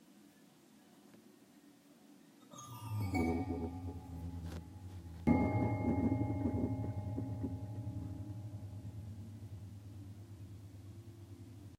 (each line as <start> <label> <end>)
2.5 Piano keys vibration 11.7